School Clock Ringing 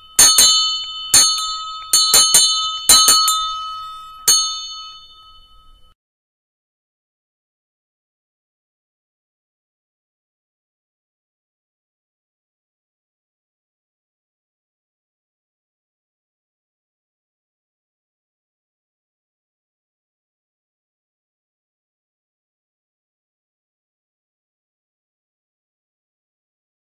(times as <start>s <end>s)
0.0s 6.0s